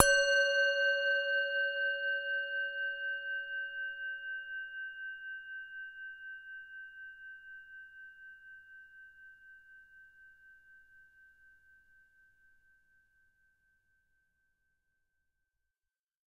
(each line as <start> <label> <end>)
0.0 tibetan singing bowl 12.9